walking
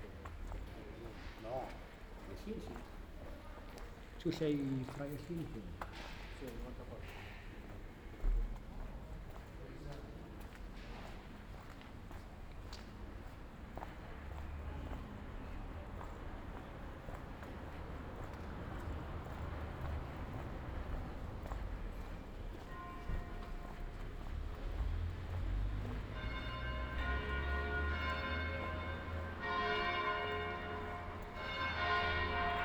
7.7s 32.6s

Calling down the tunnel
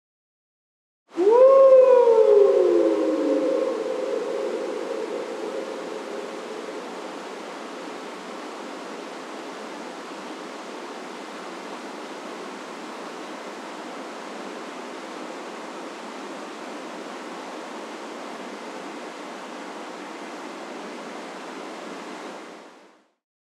1.2s 7.1s

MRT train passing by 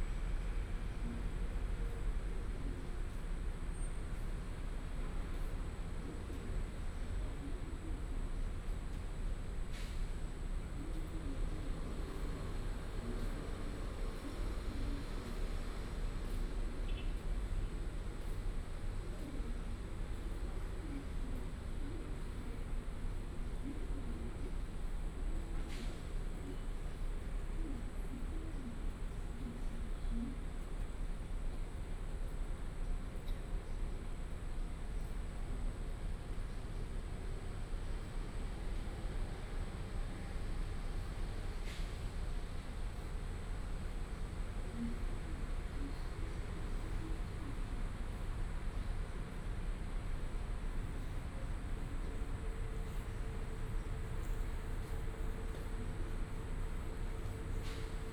35.8s 58.1s

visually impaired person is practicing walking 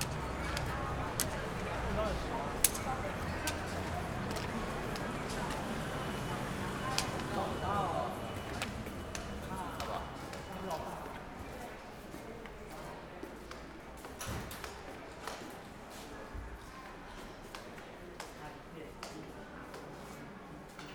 0.0s 11.2s

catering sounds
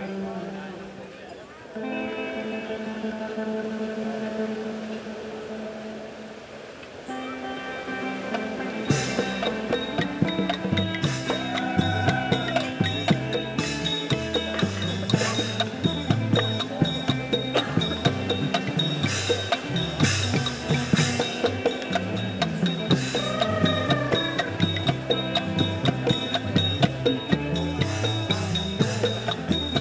7.1s 29.8s

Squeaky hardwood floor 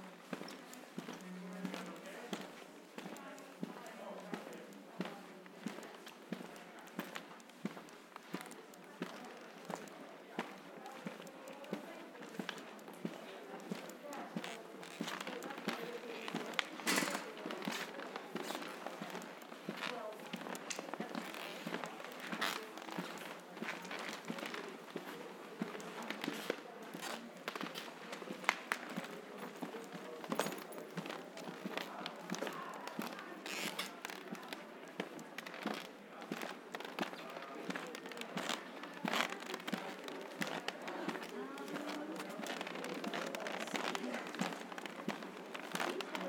32.9s 34.5s

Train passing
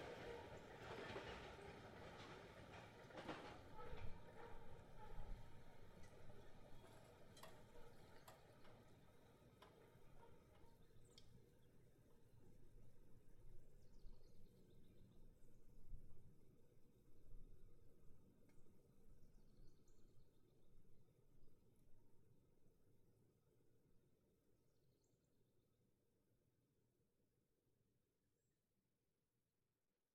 0.0s 7.2s

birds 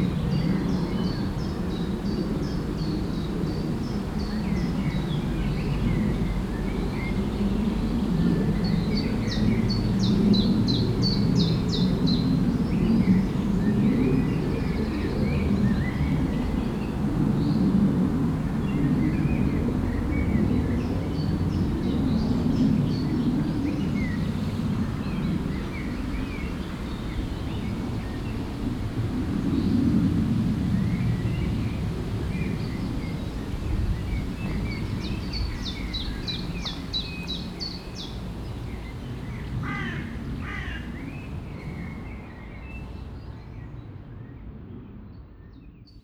30.8s 44.4s

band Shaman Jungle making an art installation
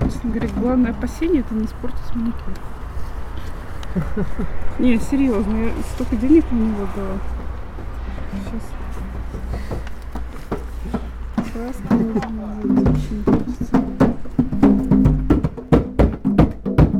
7.3s 16.9s

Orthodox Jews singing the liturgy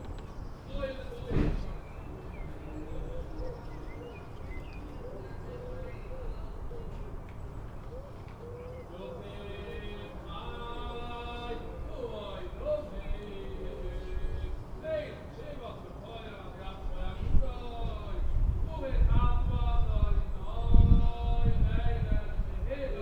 8.8s 23.0s

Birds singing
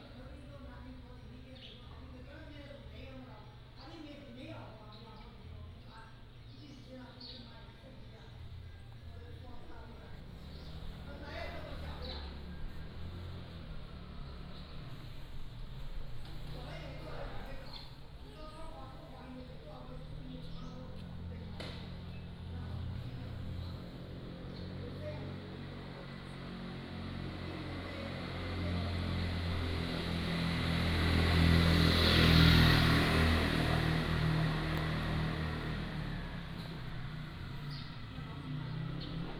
3.3s 25.4s, 33.9s 39.3s

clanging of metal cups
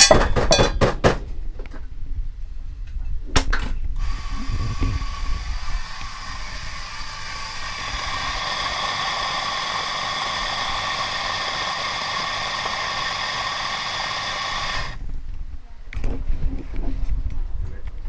0.0s 0.8s

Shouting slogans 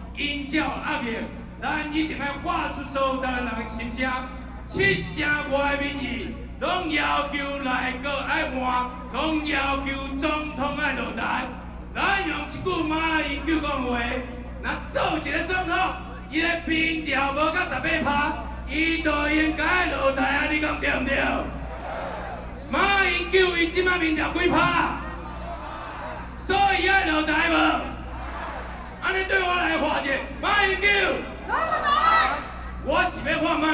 21.1s 23.2s, 23.8s 33.1s

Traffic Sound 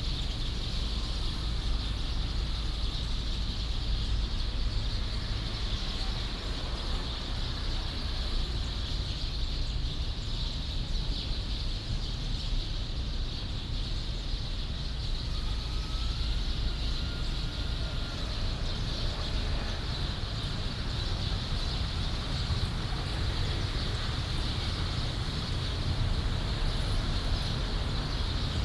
14.6s 28.6s

